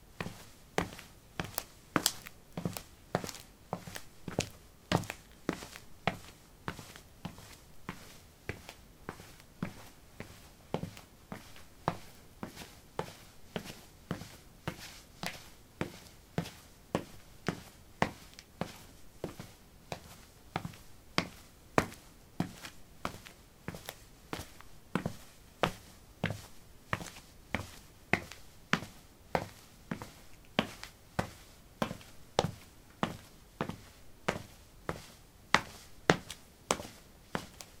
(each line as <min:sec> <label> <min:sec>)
0:00.2 Walking on concrete 0:37.8